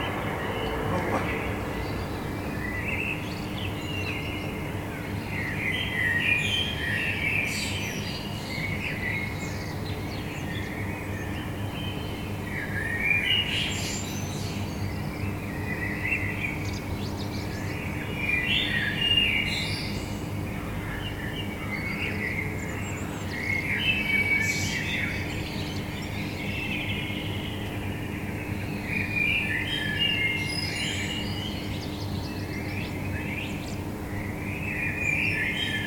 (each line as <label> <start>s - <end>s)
metro 0.0s - 6.2s
bird song 0.0s - 35.8s
city noise 0.0s - 35.8s
metro 10.9s - 35.8s